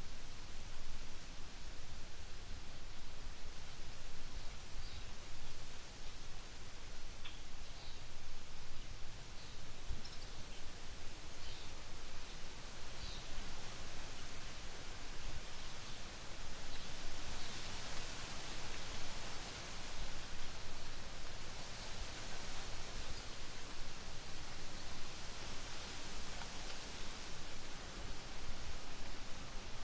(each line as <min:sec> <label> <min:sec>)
0:00.0 Wind In Maple Tree 0:29.8